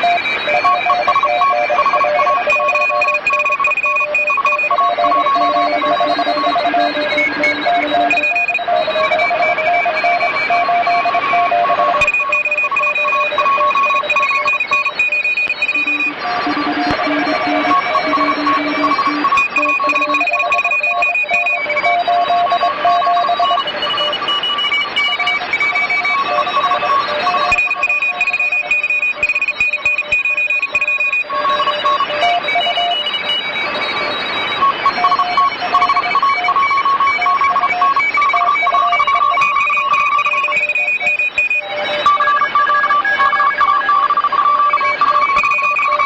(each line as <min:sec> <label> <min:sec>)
0:00.0 automatic morse stations 0:46.0